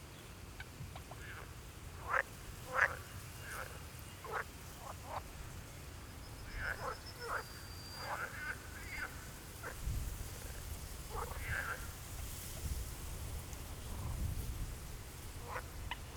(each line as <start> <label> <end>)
1.1 frog concert 5.3
6.4 frog concert 9.8
11.1 frog concert 12.0